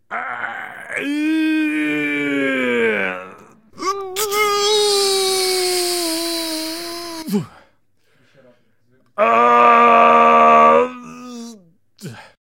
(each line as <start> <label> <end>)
0.1 Scream 3.6
0.1 Man Grunt1 7.6
9.2 Scream 11.6
9.2 Man Grunt1 12.4